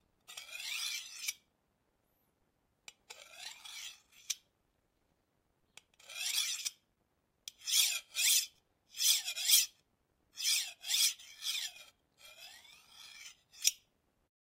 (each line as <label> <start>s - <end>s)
Sharpening a knife 0.3s - 1.5s
Sharpening a knife 2.9s - 4.5s
Sharpening a knife 5.9s - 6.8s
Sharpening a knife 7.5s - 9.8s
Sharpening a knife 10.4s - 13.9s